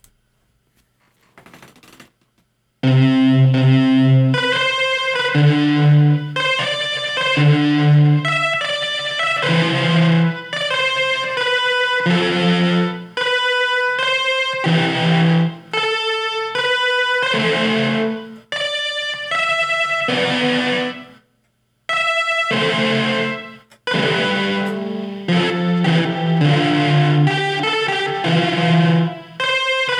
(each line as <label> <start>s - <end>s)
synth 2.8s - 21.2s
synth 22.5s - 29.9s